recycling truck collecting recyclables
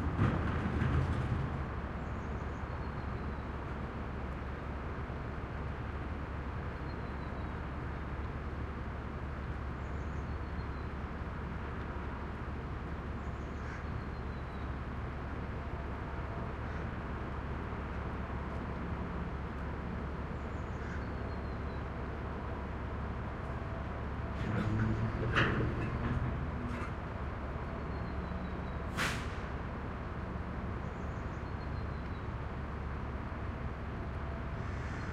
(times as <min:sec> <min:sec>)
0:00.0 0:06.2, 0:22.3 0:30.2